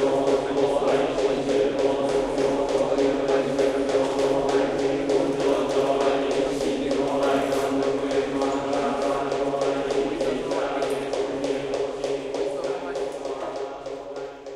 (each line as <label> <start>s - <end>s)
mokugyo strokes on each syllabe 0.0s - 14.5s
monks sing together in a rhythmic way 0.0s - 14.5s